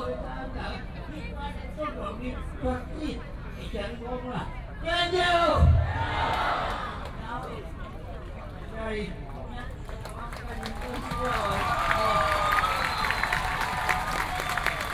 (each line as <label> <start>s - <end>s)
Speech 0.0s - 5.7s
Speech 7.1s - 12.1s